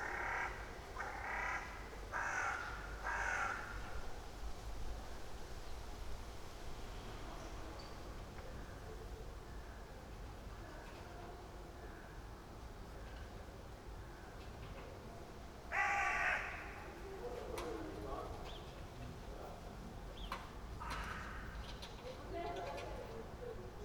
0.0s crows 4.0s
15.7s crows 17.0s
20.8s crows 21.6s

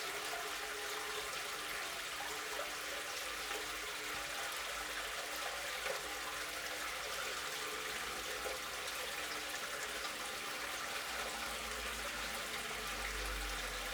9.4s Individual car can be heard passing by 13.9s

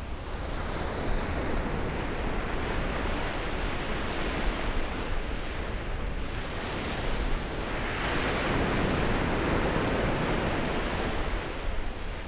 1.0s waves 12.2s

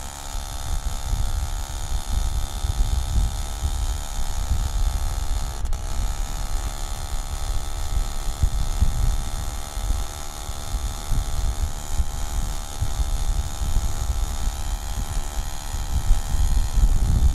0.0s Scooter ride up the hill 17.3s

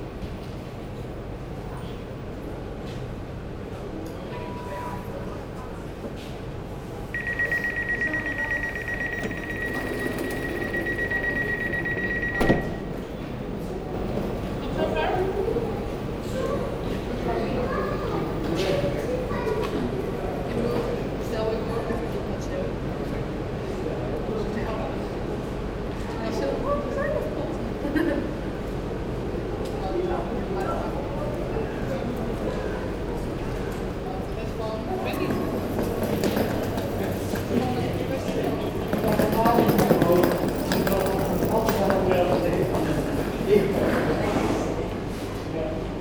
0.0s People are waiting, embarking 46.0s
5.7s train leaves 26.0s
9.1s door closes 13.0s

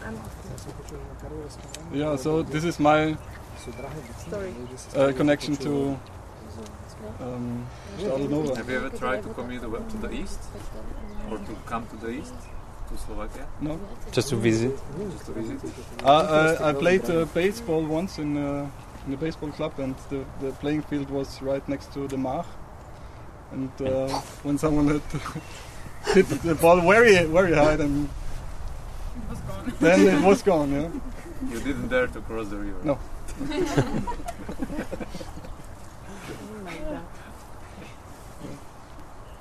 7.2s landscape architect david fadovic talking 22.6s
23.5s landscape architect david fadovic talking 28.3s
29.7s landscape architect david fadovic talking 33.7s

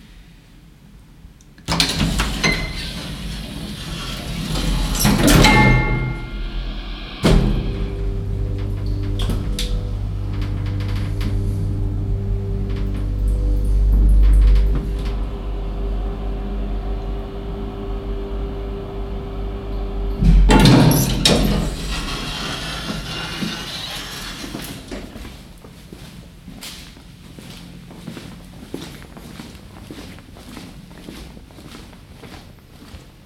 1.7s someone walking up to and entering an elevator 18.1s
1.7s elevator 25.6s

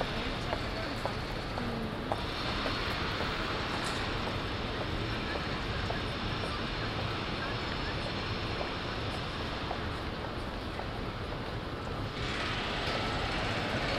0.0s Construction work 13.9s
0.0s Pedestrians 13.9s
0.0s other traffic 13.9s

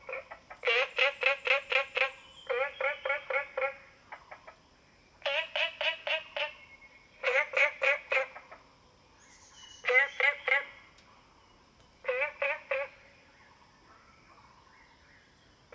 0.0s Frogs chirping 4.6s
0.0s Insects sounds 13.8s

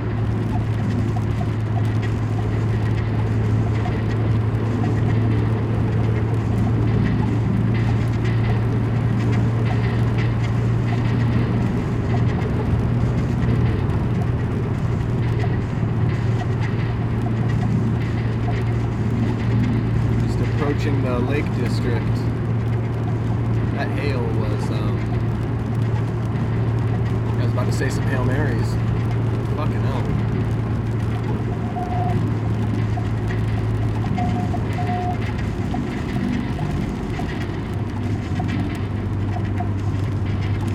0.0s Hail storm 40.7s
0.0s car stereo blathering 40.7s

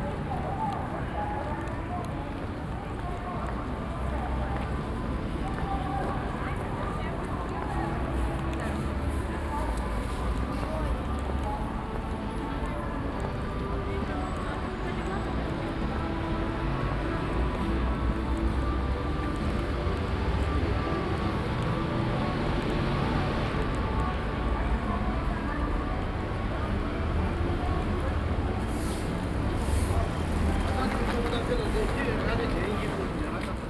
0.0s voices 28.8s

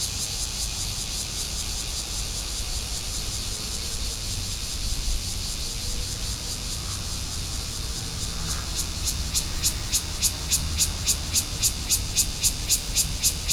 0.0s Cicada sounds 13.5s
5.3s Traffic Sound 13.5s

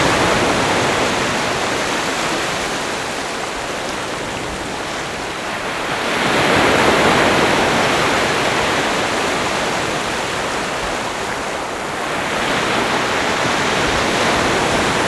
0.0s waves 15.0s

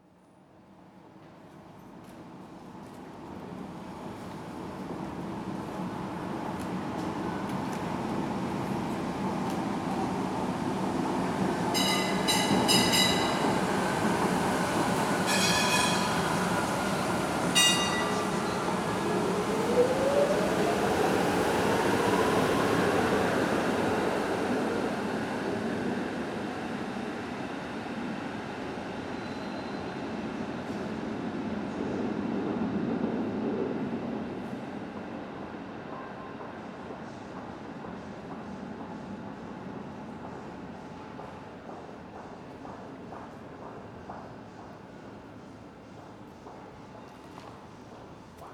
0.4s trams in de tramtunnel 48.5s

